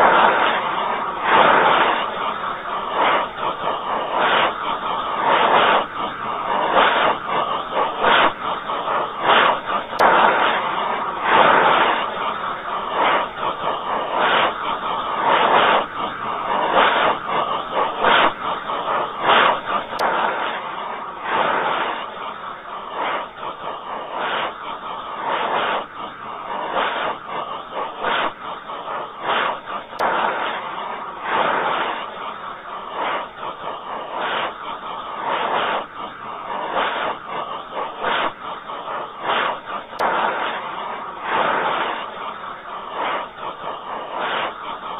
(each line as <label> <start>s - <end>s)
tv static slowed down 0.0s - 44.9s